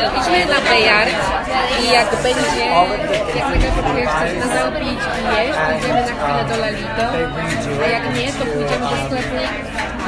chatter 0.0 - 10.0

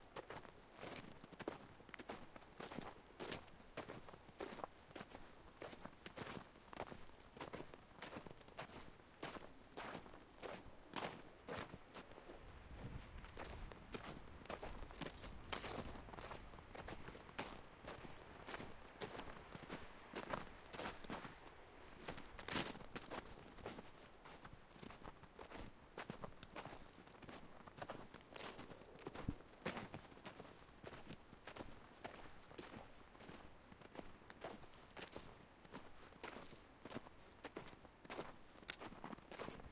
footsteps in the snow 0.2 - 39.7

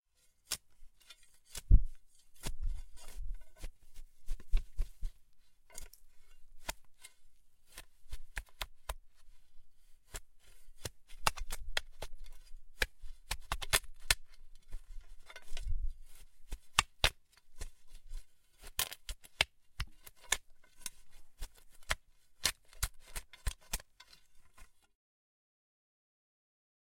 Digging with a spade 0.2 - 24.9

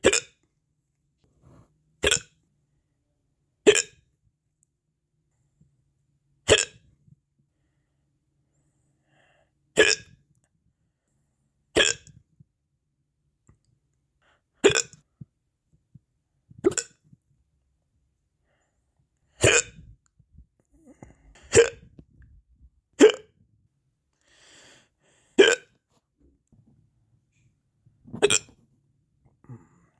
hiccup 0.0 - 0.4
hiccup 2.0 - 2.3
hiccup 3.7 - 4.0
hiccup 6.5 - 6.8
hiccup 9.8 - 10.2
hiccup 11.8 - 12.2
hiccup 14.6 - 15.0
hiccup 16.6 - 16.9
hiccup 19.4 - 19.9
hiccup 20.9 - 21.9
hiccup 23.0 - 23.4
hiccup 25.4 - 25.7
hiccup 28.1 - 28.5

